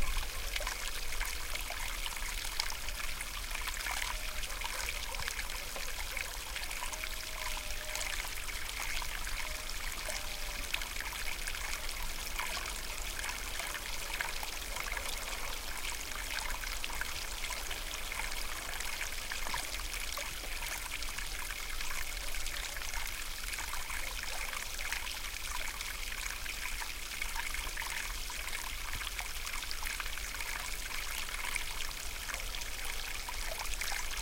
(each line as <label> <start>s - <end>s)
water stream 0.0s - 34.2s
dog barking in the background 3.8s - 8.1s